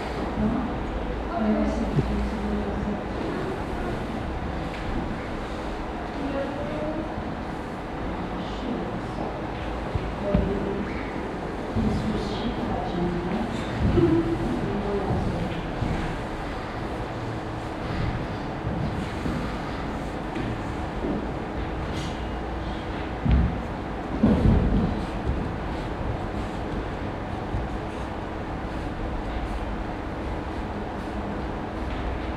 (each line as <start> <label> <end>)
13.8 warm upmovements of a dancer on stage 32.3